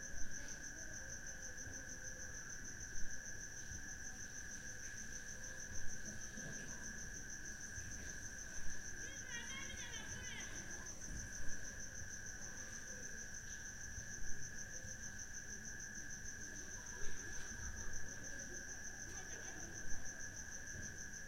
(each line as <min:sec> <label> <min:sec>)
0:00.0 crickets 0:21.2